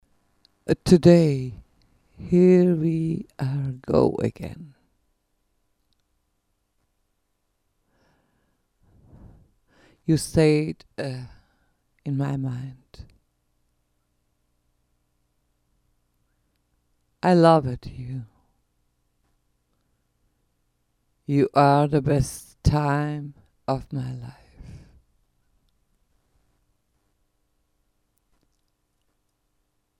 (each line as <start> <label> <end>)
0.7 VOCALS 1.6
2.2 VOCALS 4.8
10.0 VOCALS 11.5
12.1 VOCALS 13.1
17.2 VOCALS 18.4
21.3 VOCALS 25.0